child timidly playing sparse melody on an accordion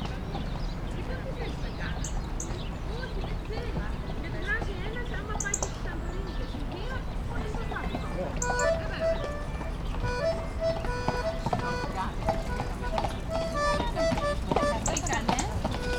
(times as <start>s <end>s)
7.6s 15.9s